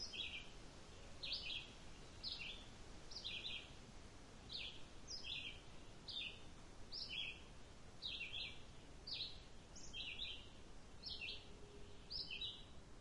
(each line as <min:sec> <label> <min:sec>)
0:00.0 bird song 0:03.8
0:00.0 light wind 0:13.0
0:04.5 bird song 0:13.0